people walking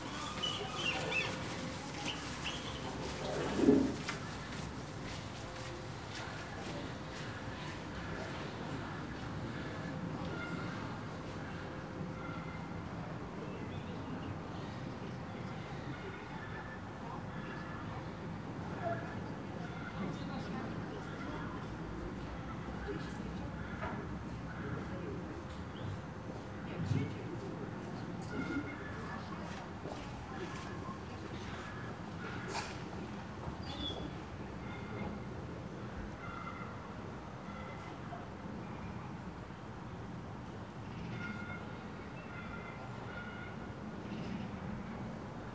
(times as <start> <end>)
0.0 8.6